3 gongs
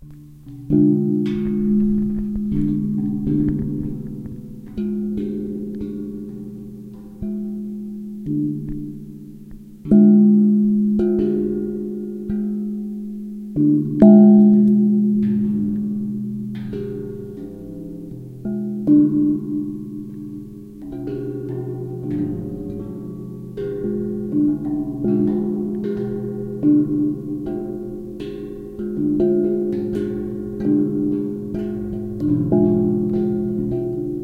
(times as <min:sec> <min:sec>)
0:14.0 0:34.2